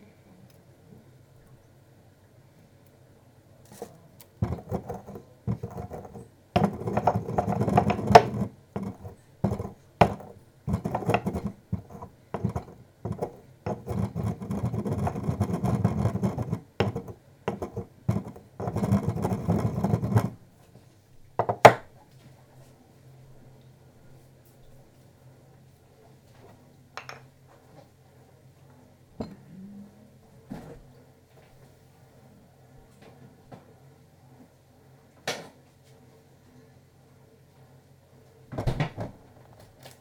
little culinary noises 0:00.3 - 0:33.8
noise of the dishwasher 0:03.7 - 0:20.5
noise of the dishwasher 0:21.4 - 0:22.1
noise of the dishwasher 0:29.1 - 0:29.7
noise of the dishwasher 0:38.4 - 0:40.0

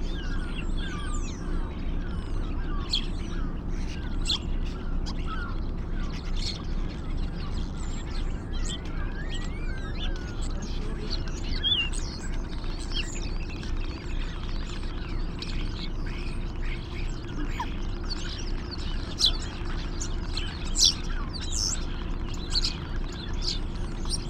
lesser black-backed gull 0:00.0 - 0:24.2
starlings 0:00.0 - 0:24.2
wren 0:00.0 - 0:24.2
herring gull 0:08.0 - 0:24.2

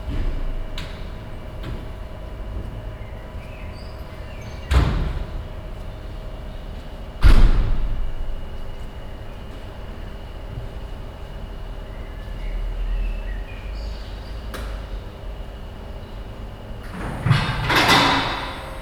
cars driving inside the open building 0:00.0 - 0:18.8

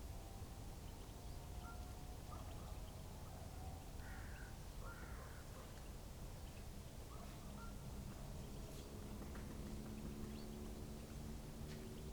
woodpecker 0:09.0 - 0:12.1

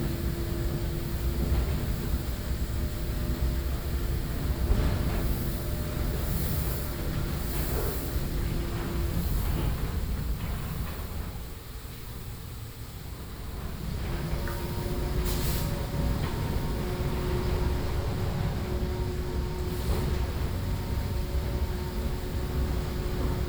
car washing street 0:15.1 - 0:23.4

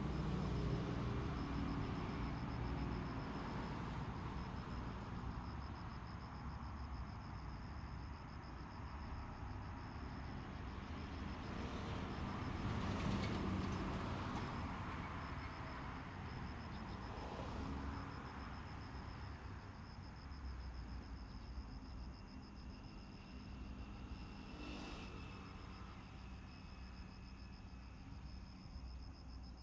The train passes by 0:09.4 - 0:19.1
The train passes by 0:22.5 - 0:28.8

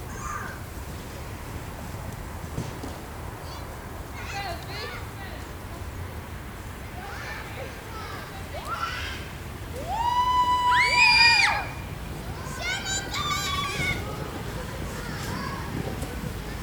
Kids playing in the snow 0:00.0 - 0:16.6
sledding 0:00.0 - 0:16.6

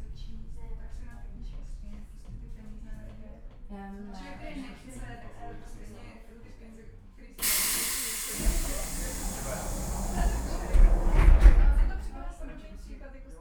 funicular 0:07.4 - 0:13.0

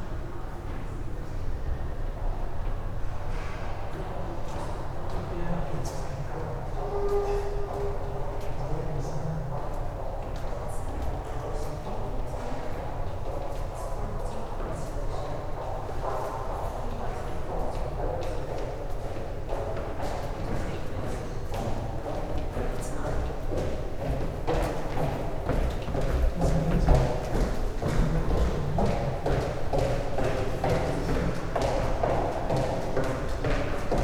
People walking through the underground tunnel 0:00.0 - 0:34.0
footsteps 0:21.6 - 0:34.0

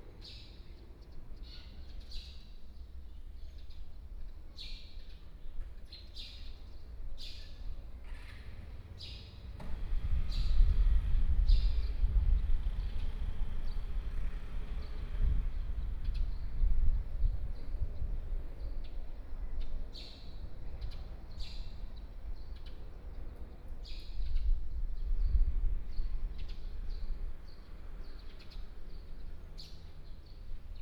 Traffic Sound 0:08.1 - 0:17.2

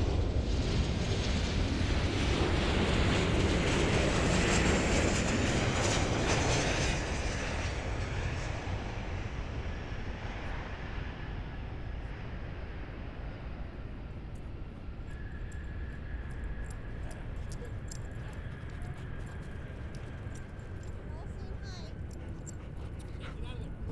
aircraft 0:00.0 - 0:23.9
dogs 0:15.1 - 0:23.9
people 0:16.7 - 0:23.9

